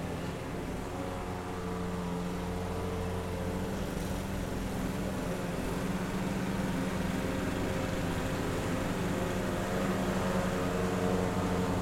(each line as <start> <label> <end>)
0.0 Power mower noise 11.8